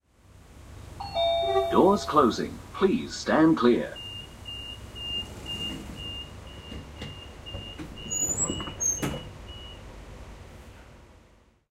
beeping 0:01.0 - 0:02.5
electronic door closing 0:01.0 - 0:02.3
warning announcement 0:01.0 - 0:06.6
beeping 0:03.8 - 0:09.8
electronic door closing 0:04.0 - 0:09.8

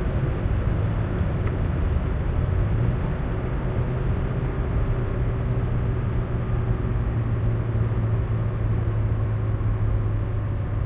driving on asphalt 0:00.0 - 0:10.8

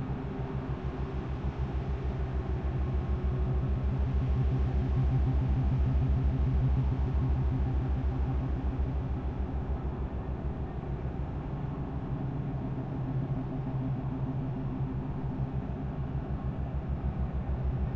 engine 0:00.0 - 0:17.9

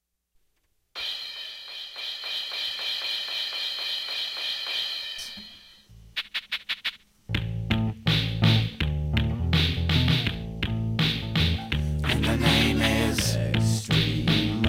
short song 0:11.7 - 0:14.6

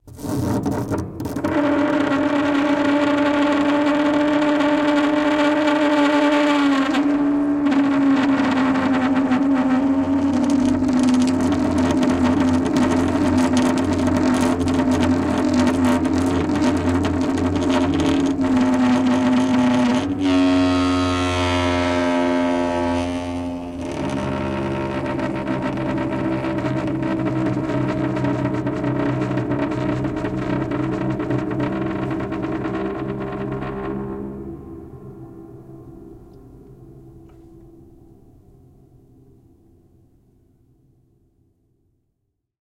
grand piano, undergoing abuse with dry ice on the strings 0:06.7 - 0:34.7

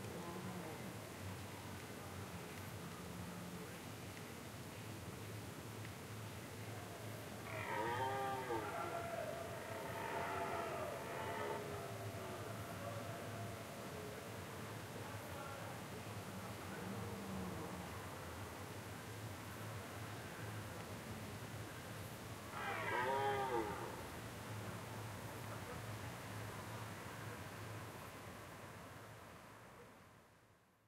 Deer calling and rutting 0:07.4 - 0:13.7
Deer calling and rutting 0:22.6 - 0:24.0

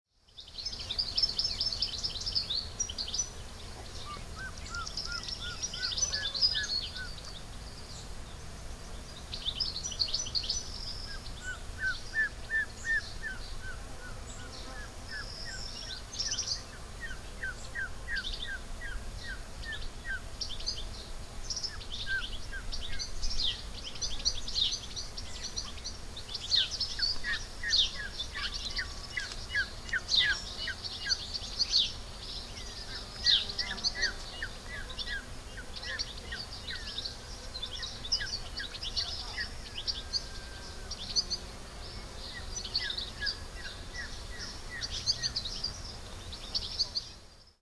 small bird chatter 0:00.4 - 0:47.6

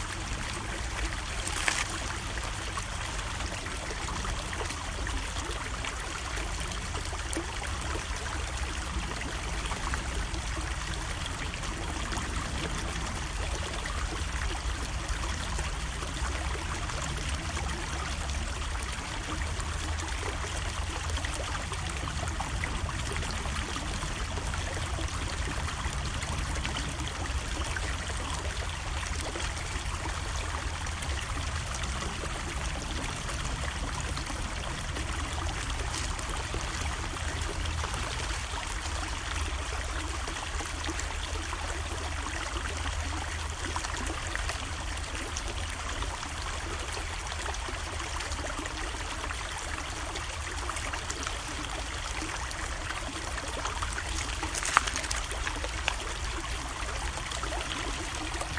steady stream 0:00.0 - 0:58.5
pebbles being lightly tossed into the water 0:01.2 - 0:02.3
pebbles being lightly tossed into the water 0:53.8 - 0:56.1
rubbing of hands & rocks 0:53.9 - 0:56.0
light walking on nearby stones 0:54.2 - 0:56.0

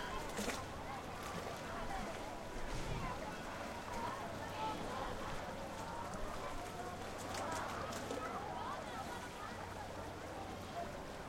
sea 0:00.0 - 0:11.2

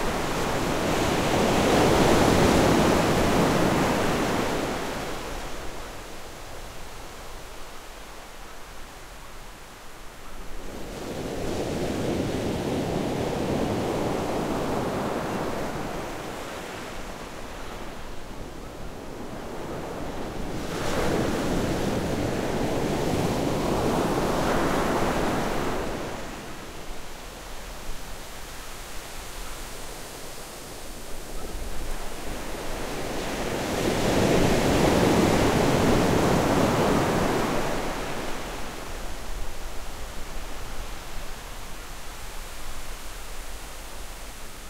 Sea 0:00.0 - 0:44.6

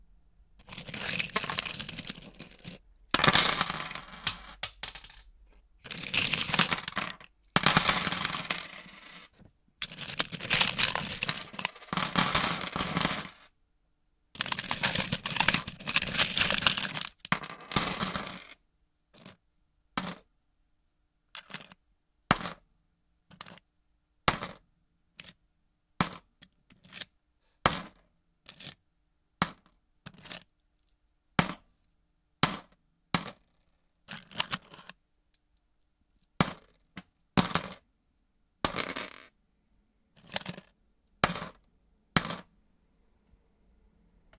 Searching coins 0:00.6 - 0:13.5
Searching coins 0:14.4 - 0:18.6
Searching coins 0:19.2 - 0:19.4
Searching coins 0:21.4 - 0:22.6
Searching coins 0:23.3 - 0:23.6
Searching coins 0:26.0 - 0:27.1
Searching coins 0:27.7 - 0:28.8
Searching coins 0:29.4 - 0:31.7
Searching coins 0:34.1 - 0:35.0
Searching coins 0:36.2 - 0:36.8
Searching coins 0:37.4 - 0:37.8
Searching coins 0:38.6 - 0:39.3
Searching coins 0:40.2 - 0:41.6
Searching coins 0:42.2 - 0:42.5

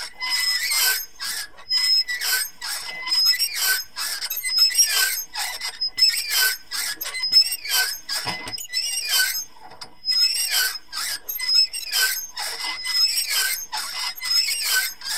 medium speed squeaking 0:00.2 - 0:15.1

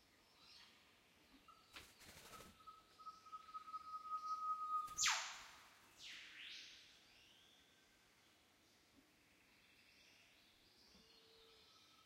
Northern whipbird 0:04.3 - 0:06.7

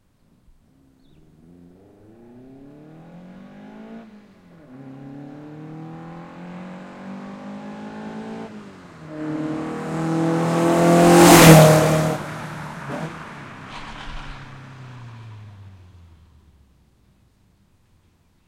Car Approach and Pass By 0:00.2 - 0:18.4

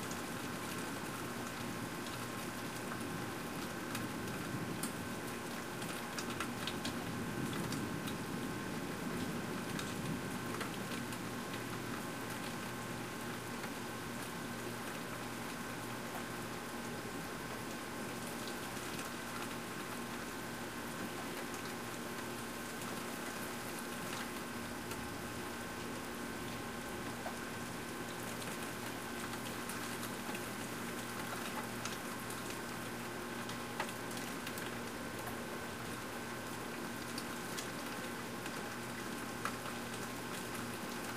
rain 0:00.0 - 0:41.1

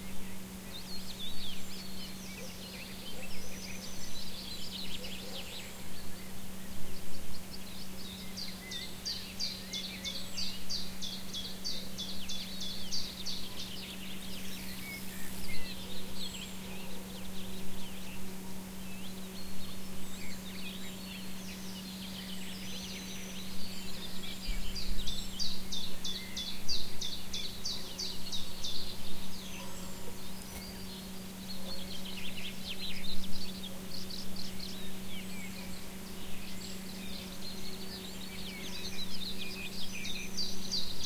birds 0:00.0 - 0:41.0

